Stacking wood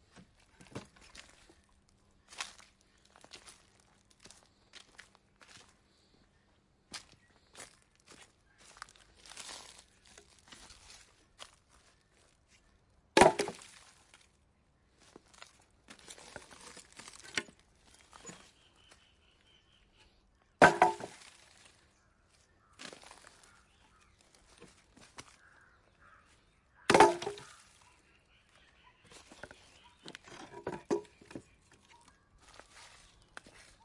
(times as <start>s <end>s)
13.2s 13.6s, 20.6s 21.3s, 26.9s 27.6s, 30.0s 31.5s